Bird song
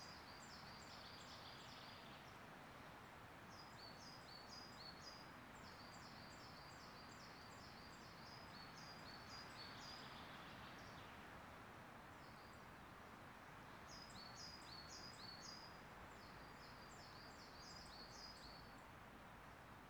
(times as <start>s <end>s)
13.9s 18.8s